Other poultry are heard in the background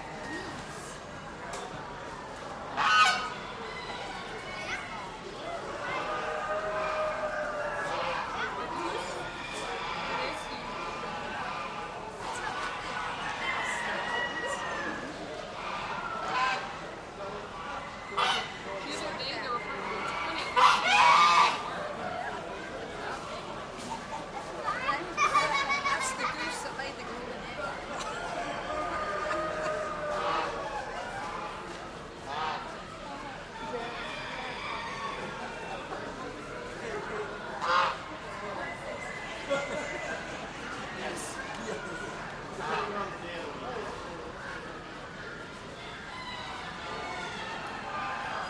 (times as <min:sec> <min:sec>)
0:02.7 0:04.8, 0:05.8 0:22.3, 0:28.2 0:32.8, 0:33.6 0:36.5, 0:37.5 0:40.3, 0:45.7 0:48.4